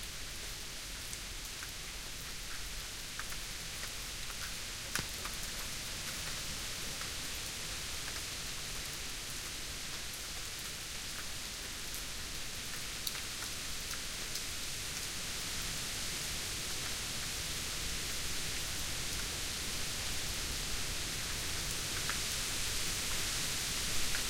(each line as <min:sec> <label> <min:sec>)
0:00.0 light rain 0:24.2